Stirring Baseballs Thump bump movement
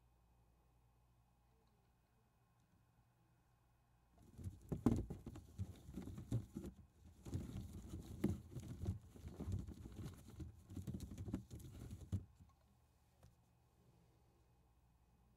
0:04.2 0:12.5

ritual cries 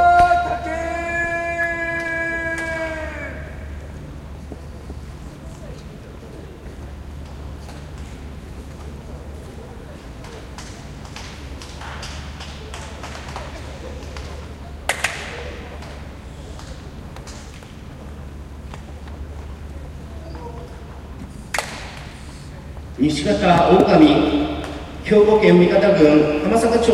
0:00.0 0:03.9

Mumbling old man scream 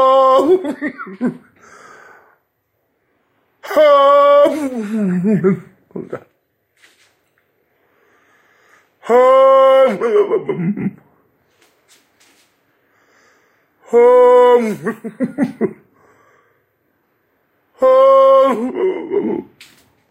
0:00.0 0:00.7, 0:03.6 0:05.6, 0:09.0 0:10.5, 0:13.8 0:15.0, 0:17.8 0:19.5

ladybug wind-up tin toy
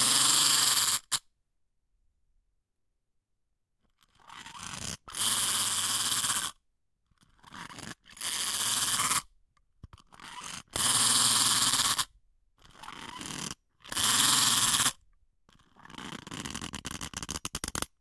0:00.0 0:01.2, 0:07.2 0:09.3, 0:09.9 0:17.9

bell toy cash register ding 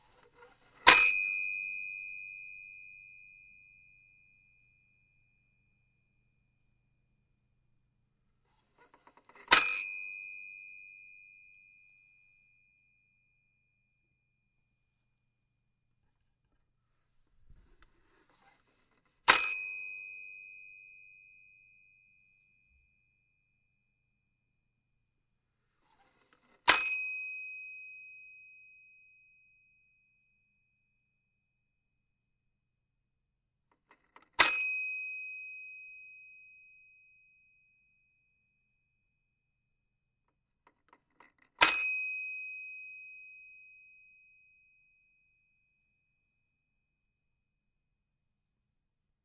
0:00.0 0:04.1, 0:09.0 0:12.2, 0:19.3 0:21.8, 0:25.9 0:29.4, 0:34.0 0:37.1, 0:41.2 0:44.4

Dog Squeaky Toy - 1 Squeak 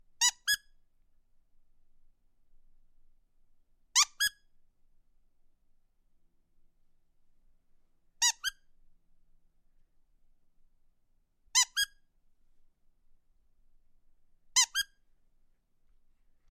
0:00.2 0:00.7, 0:04.0 0:04.4, 0:08.2 0:08.6, 0:11.6 0:12.0, 0:14.6 0:15.0

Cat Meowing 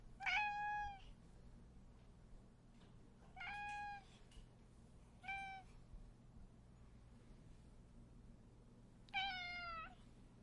0:00.2 0:01.0, 0:03.4 0:04.0, 0:05.2 0:05.7, 0:09.1 0:10.0

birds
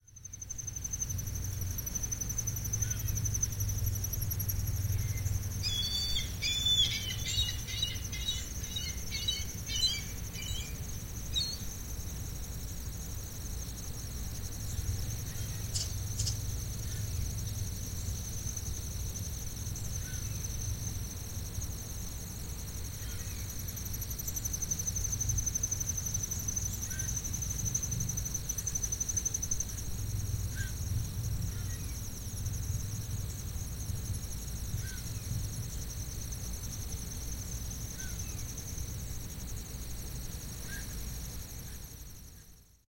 0:05.1 0:10.8

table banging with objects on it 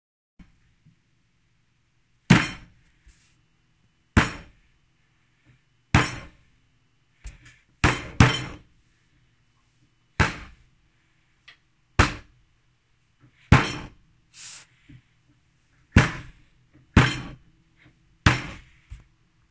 0:02.3 0:02.8, 0:04.2 0:04.6, 0:06.0 0:06.4, 0:07.3 0:08.7, 0:10.2 0:10.6, 0:12.0 0:12.3, 0:13.5 0:14.0, 0:15.9 0:17.5, 0:18.2 0:19.0

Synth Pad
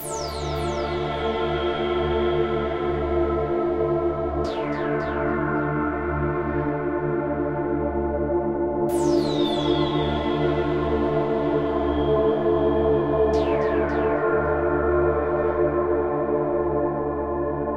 0:00.0 0:04.6

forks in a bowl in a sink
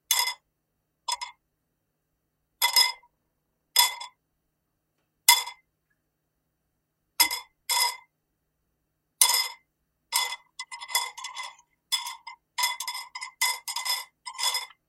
0:10.2 0:14.8

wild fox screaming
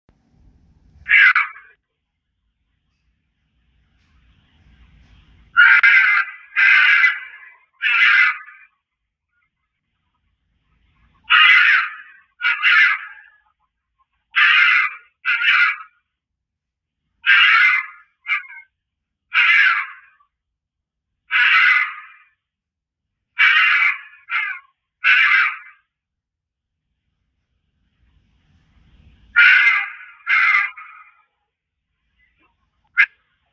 0:01.0 0:01.8, 0:05.5 0:08.8, 0:11.2 0:13.6, 0:14.3 0:16.0, 0:17.2 0:20.4, 0:21.3 0:22.5, 0:23.3 0:26.0, 0:29.3 0:31.3

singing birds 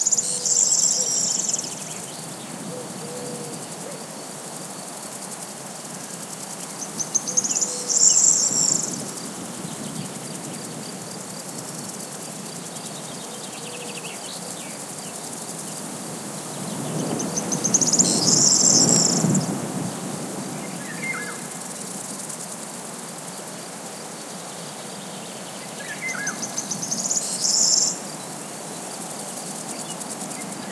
0:00.0 0:04.2, 0:06.7 0:15.8, 0:16.5 0:19.6, 0:24.2 0:30.7

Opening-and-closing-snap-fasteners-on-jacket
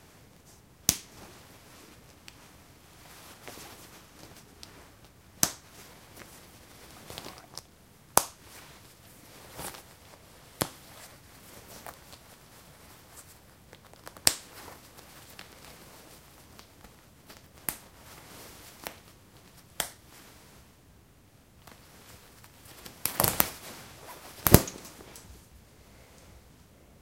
0:06.9 0:07.6, 0:22.7 0:25.3

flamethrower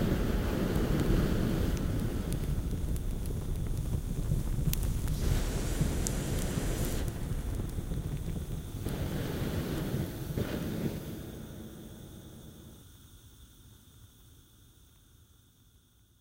0:00.0 0:12.8

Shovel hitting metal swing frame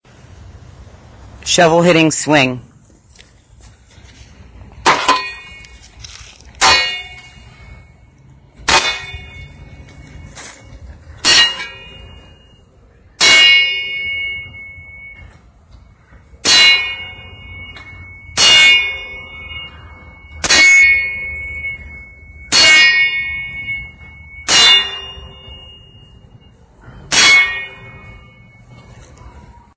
0:04.8 0:12.6, 0:13.2 0:15.5, 0:16.2 0:29.1

